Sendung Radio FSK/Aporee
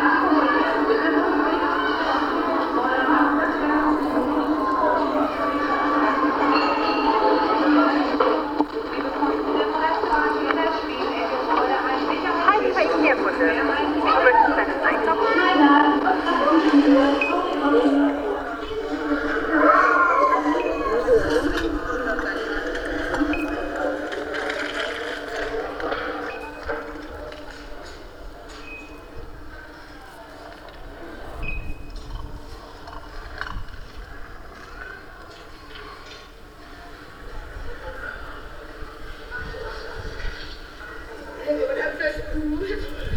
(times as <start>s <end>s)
7.4s 24.3s